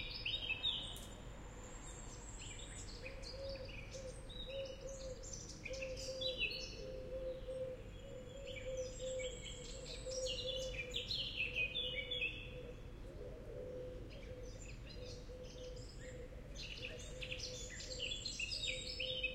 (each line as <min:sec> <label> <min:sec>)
0:00.0 cars passing by slowly 0:05.6
0:00.0 nightingale 0:19.3
0:01.8 blackbird 0:19.3